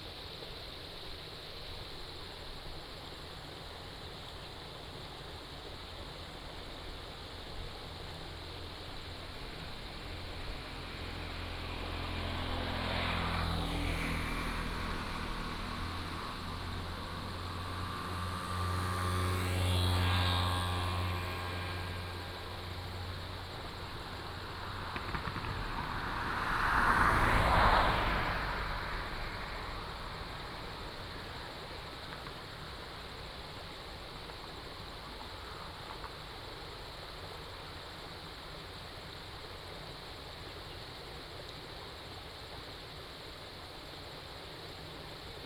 Stream 0.0 - 45.4
Traffic Sound 7.6 - 37.4

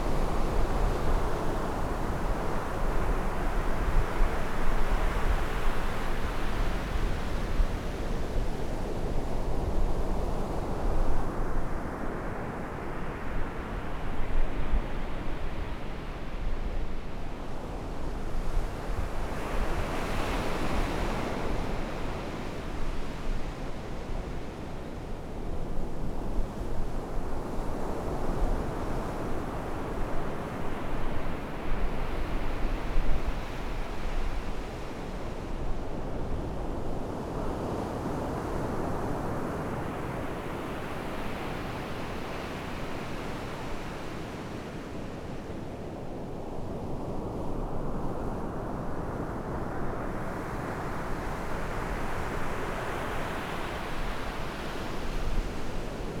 waves 0.0 - 56.2

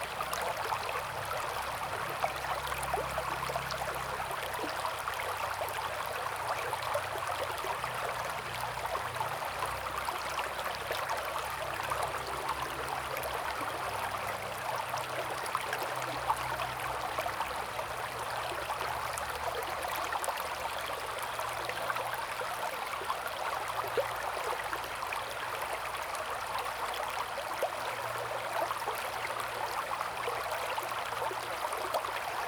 Stream 0.0 - 32.4

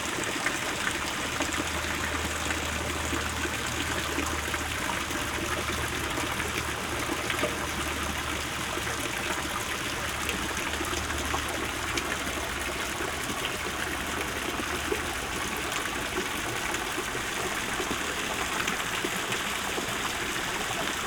fairy tale fountain 0.0 - 21.0

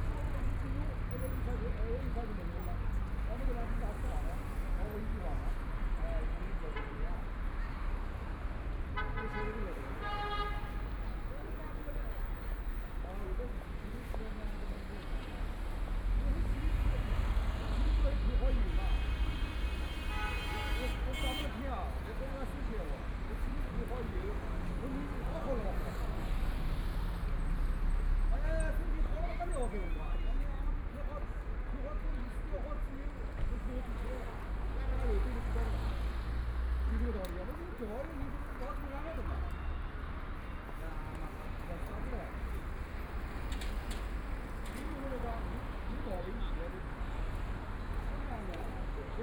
Traffic Sound 0.0 - 49.2
crowd at the intersection 0.0 - 49.2

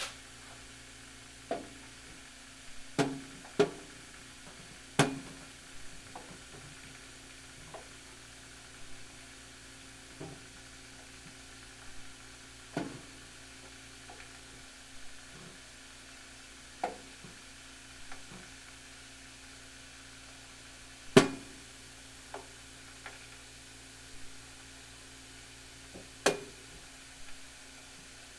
dripping solar water system 1.4 - 16.1

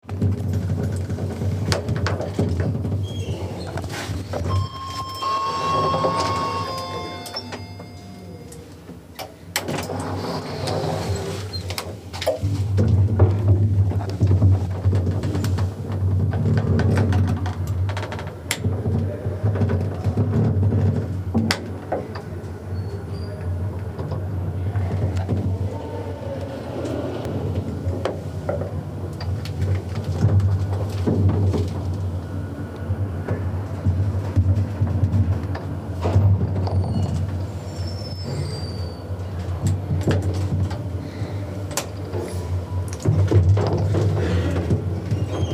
elevator 3.2 - 11.8

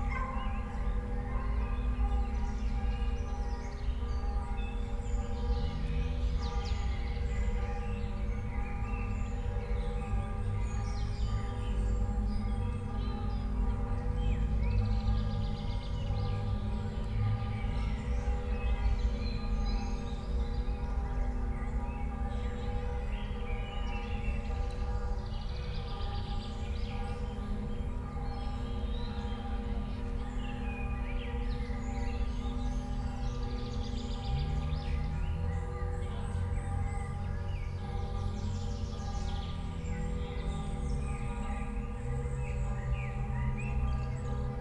church bells 0.0 - 44.6
distant rush hur traffic drone 31.2 - 44.6

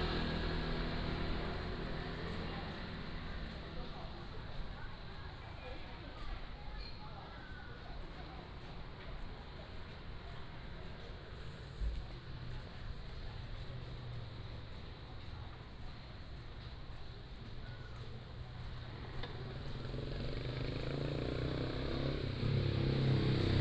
Walking on the road 0.0 - 23.6

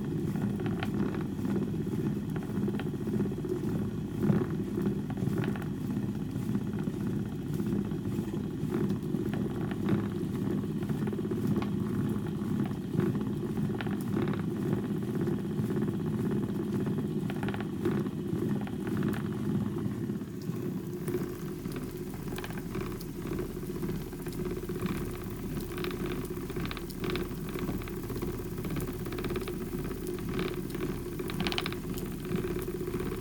spinning Shetland wool on an old Shetland wheel 0.0 - 33.2

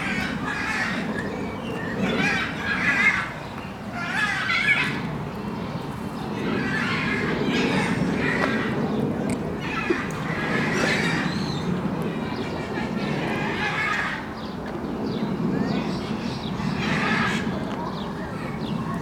animals 0.0 - 19.0
birds 0.0 - 19.0
people 15.3 - 19.0

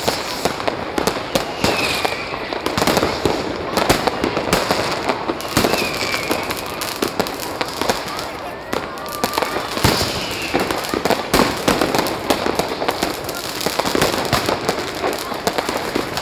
Tens of thousands of people 0.0 - 16.2
fireworks 0.0 - 16.2

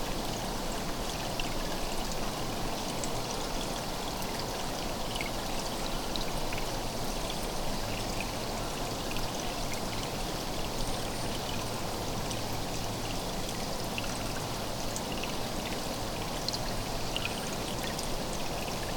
little water stream 0.0 - 18.9

